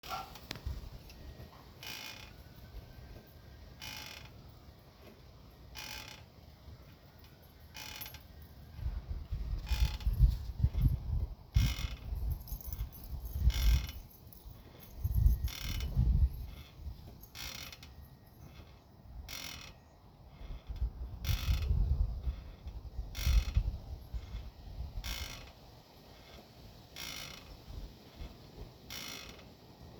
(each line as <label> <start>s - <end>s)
Squeaky rocking chair 0.0s - 8.8s
Squeaky rocking chair 9.4s - 29.5s